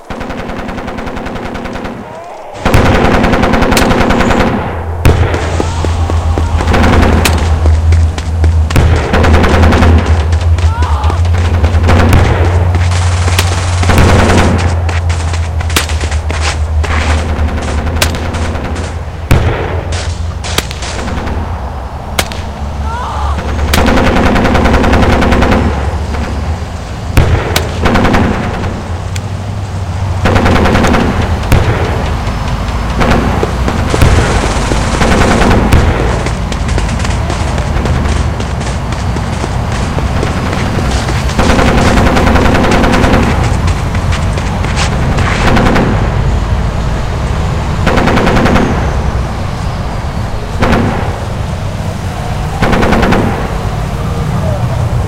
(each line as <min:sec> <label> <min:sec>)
0:32.8 explosion 0:46.3